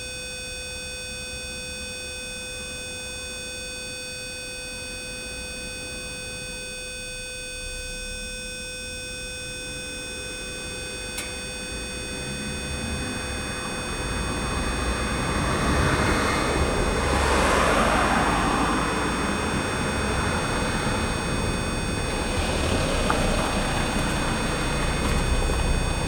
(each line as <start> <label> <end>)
10.2 Doorbells problem 26.0